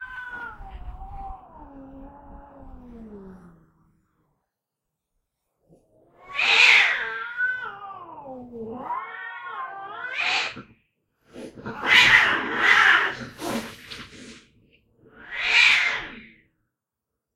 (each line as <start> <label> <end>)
6.2 Cats Fighting 14.4
13.2 hiss 14.5
15.1 Cats Fighting 16.4